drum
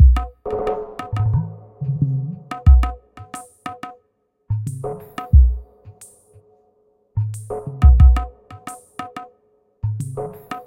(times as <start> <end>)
0.0 0.4, 2.5 3.9, 4.6 5.6, 7.8 9.2